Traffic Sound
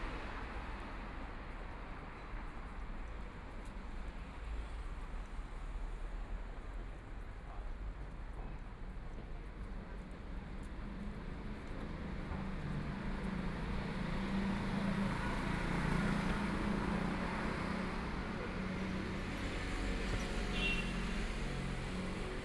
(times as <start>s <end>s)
12.0s 22.4s